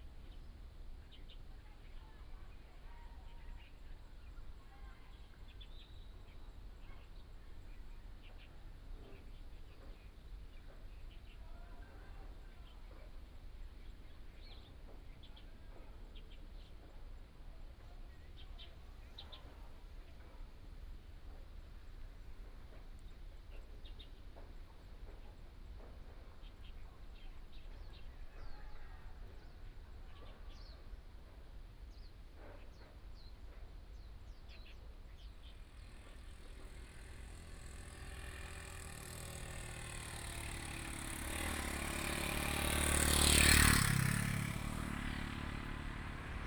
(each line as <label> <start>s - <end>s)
traffic sound 33.0s - 46.4s